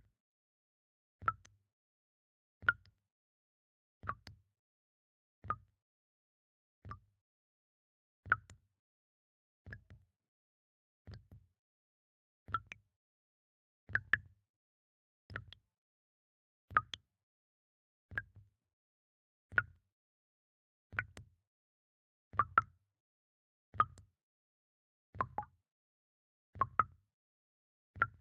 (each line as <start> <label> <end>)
16.7 water tap dripping in slow rhythm 17.0
23.8 water tap dripping in slow rhythm 24.0
25.2 water tap dripping in slow rhythm 25.5